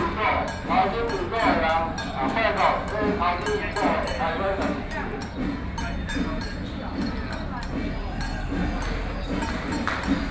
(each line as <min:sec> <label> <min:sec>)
0:00.0 Traditional temple festivals 0:10.3